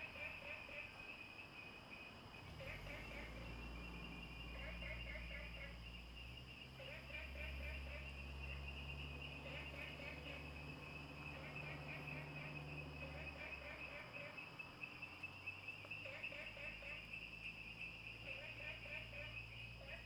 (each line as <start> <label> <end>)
0.0 Frogs chirping 20.0
0.0 insects 20.0